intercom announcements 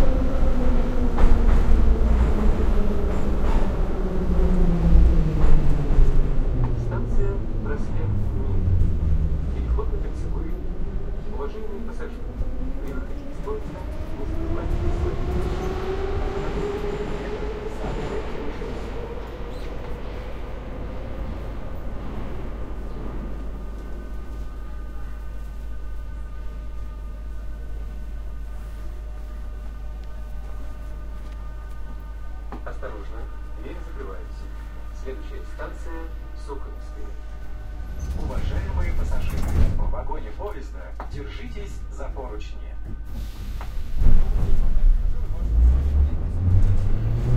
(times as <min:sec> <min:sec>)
0:31.4 0:37.5